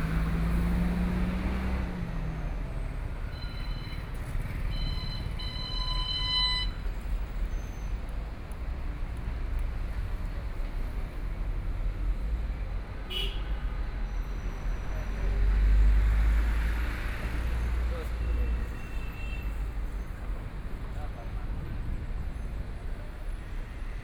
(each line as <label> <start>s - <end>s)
Traffic Sound 0.0s - 24.0s
Walking in the street 0.0s - 24.0s
crowd in the street 0.0s - 24.0s